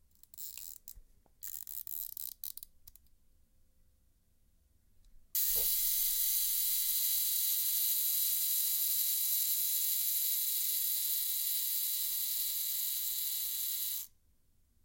5.4s camera's timer 14.1s

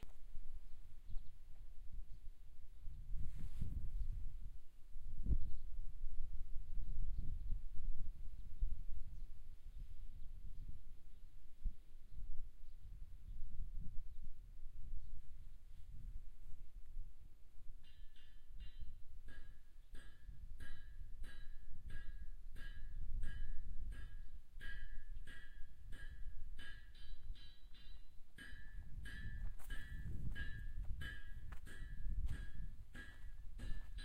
14.4s Walking from street into an old smithy 34.0s
17.9s anvil 34.0s

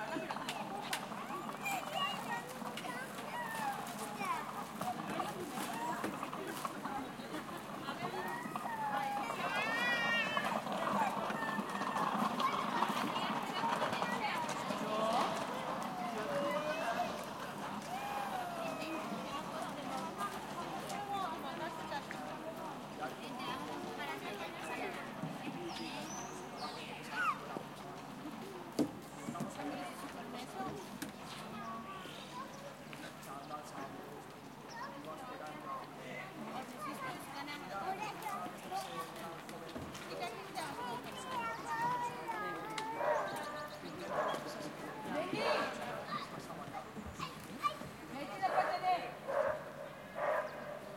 0.0s children 50.9s
0.0s parents 50.9s

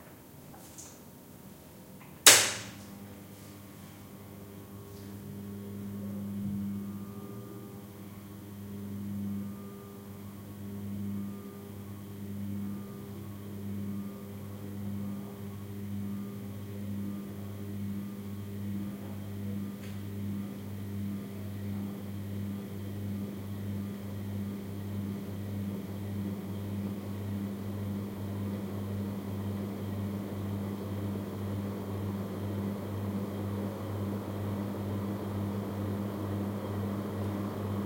0.0s ceiling fan, starting 37.8s

